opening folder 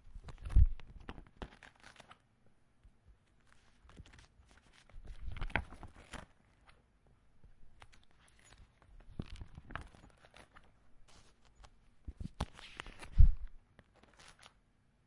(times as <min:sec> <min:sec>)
0:07.8 0:14.6